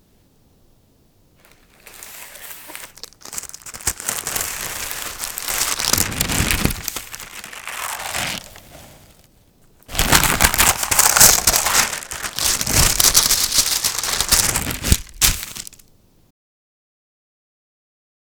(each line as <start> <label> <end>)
1.4 baking paper being removed from a baking tray 9.3
9.9 baking paper being removed from a baking tray 15.9